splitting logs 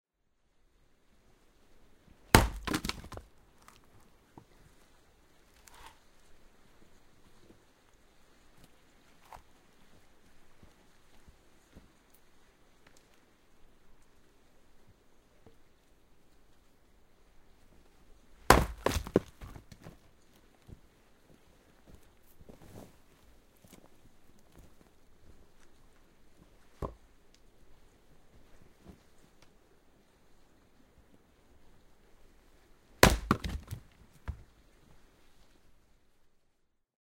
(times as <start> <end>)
2.3 3.9, 5.6 6.0, 18.4 20.1, 33.0 34.5